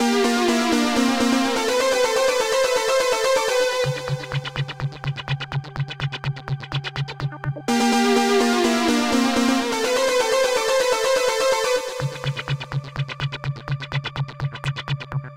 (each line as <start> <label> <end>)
0.0 bass 15.3
0.0 synth 15.3
3.8 drum 10.3
11.8 drum 15.3